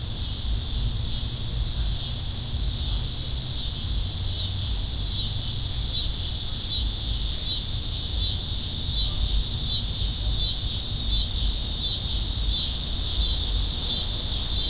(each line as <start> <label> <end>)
0.0 crickets 14.6